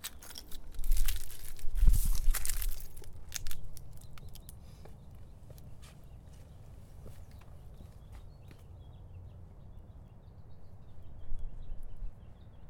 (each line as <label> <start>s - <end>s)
Birds can be heard from a distance 0.0s - 12.6s
leaves rustling from people walking by 0.6s - 4.8s